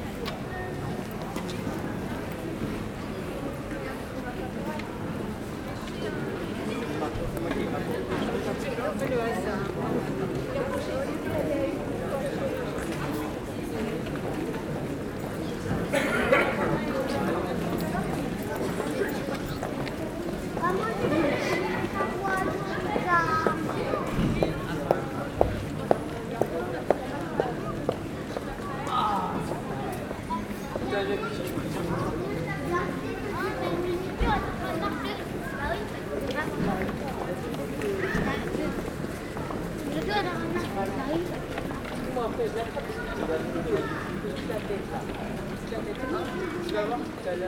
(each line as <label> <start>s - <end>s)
People walking 11.3s - 47.2s